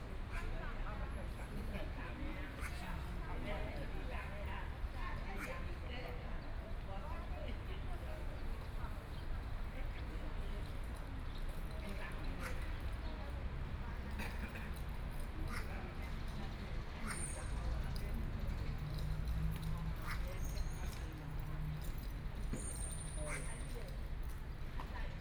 Traffic Sound 12.3 - 25.2
Birds 14.2 - 18.2
Birds 19.2 - 24.0

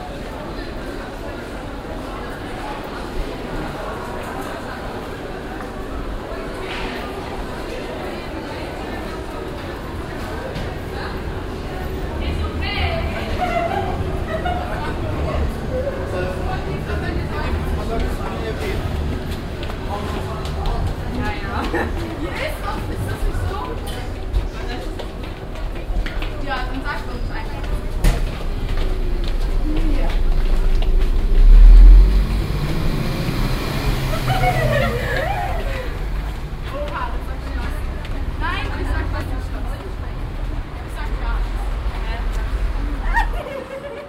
rolltreppenauffahrt 8.8 - 43.5
rolltreppeneinfahrt 27.4 - 43.6

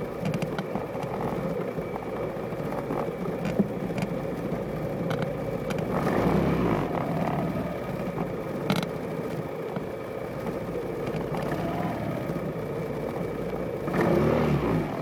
Vespa ride 0.0 - 15.0

